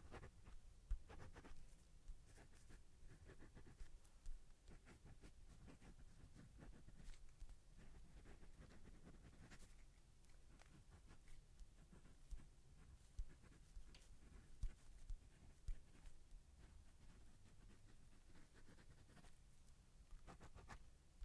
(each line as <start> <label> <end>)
0.0 Writing various things in cursive with pen in a notebook 21.2